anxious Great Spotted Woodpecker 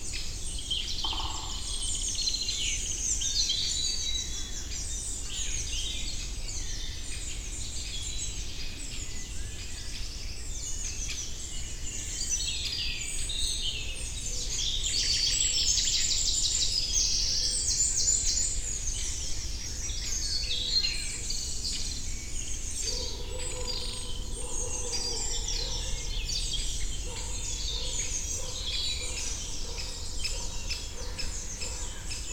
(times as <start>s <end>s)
0.0s 5.7s, 13.8s 32.3s